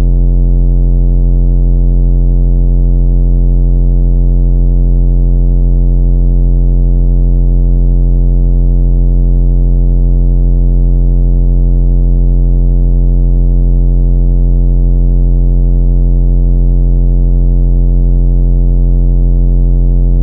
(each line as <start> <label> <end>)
0.0 bass 0.9
19.9 bass 20.2